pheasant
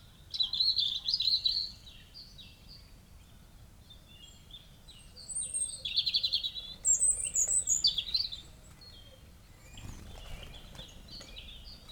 0:05.1 0:11.9

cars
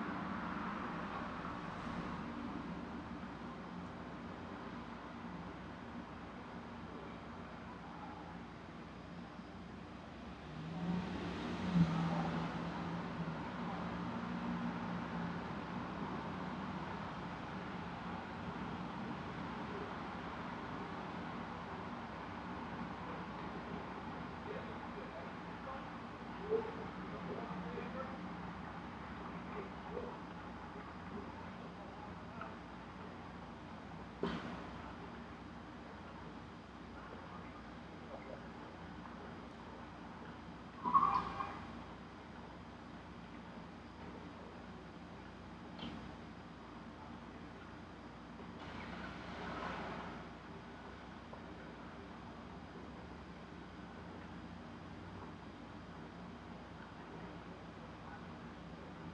0:00.0 0:04.8, 0:09.9 0:35.6

